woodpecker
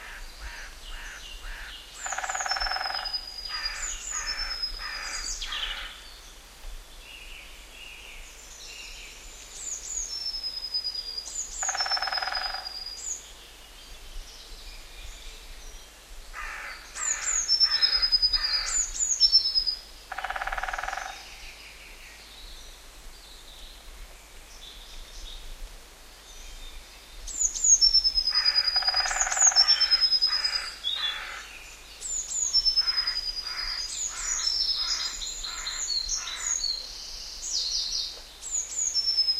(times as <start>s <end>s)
0.4s 5.9s, 11.6s 12.8s, 20.1s 21.4s, 27.9s 31.4s